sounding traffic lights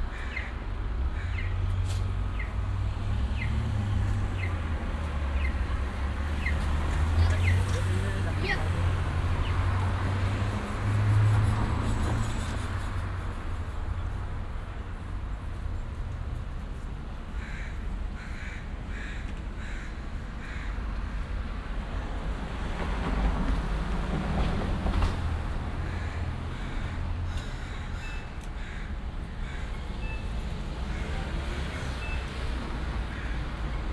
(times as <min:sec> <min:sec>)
0:29.6 0:33.9